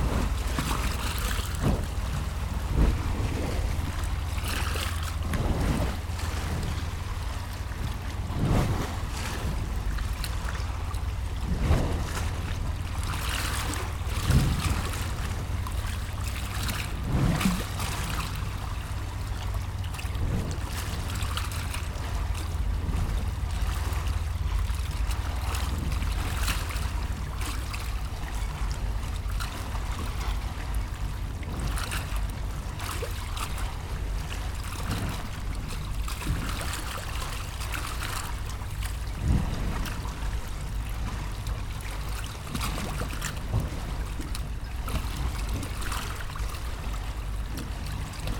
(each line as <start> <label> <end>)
0.0 Violent water lapping at the wharf 48.3